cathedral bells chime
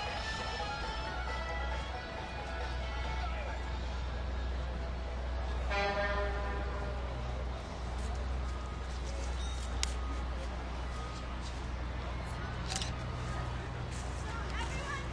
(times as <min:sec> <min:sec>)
0:05.6 0:07.2